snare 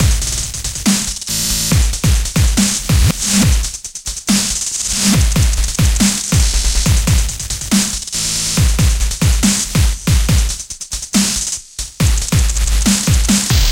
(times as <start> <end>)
0.0 1.8, 2.6 3.5, 4.3 5.2, 7.7 8.6, 11.2 11.5, 12.7 13.7